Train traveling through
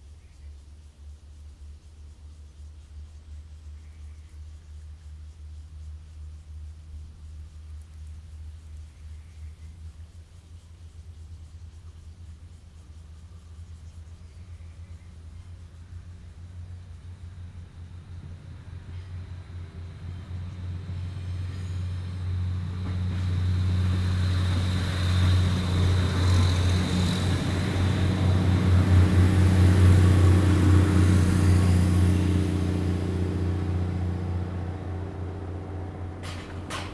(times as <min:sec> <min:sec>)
0:17.0 0:36.9